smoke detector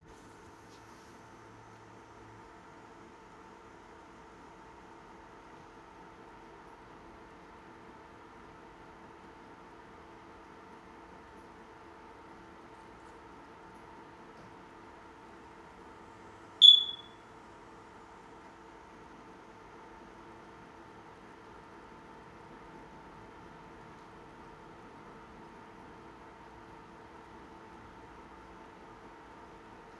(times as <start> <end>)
16.6 17.2